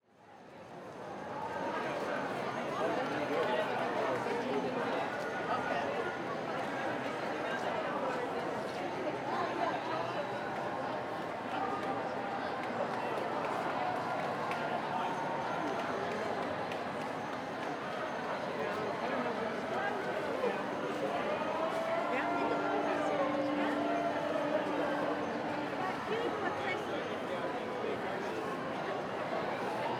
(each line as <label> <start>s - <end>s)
massive crowd of people marching 0.7s - 29.9s
cheer 11.6s - 17.2s